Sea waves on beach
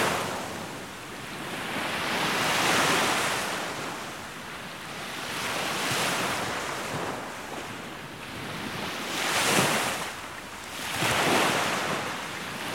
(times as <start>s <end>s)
8.4s 12.7s